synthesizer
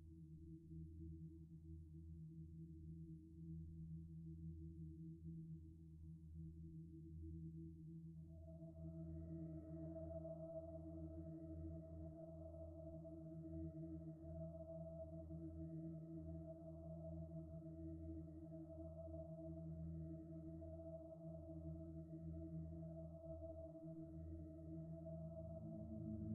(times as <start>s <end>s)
8.2s 26.3s